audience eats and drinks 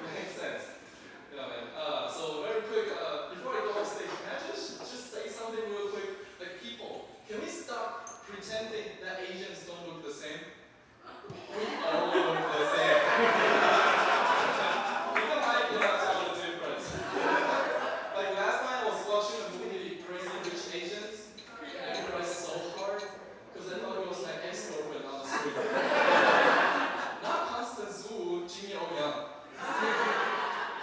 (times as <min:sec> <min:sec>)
0:11.2 0:18.4, 0:19.2 0:27.2, 0:29.5 0:30.8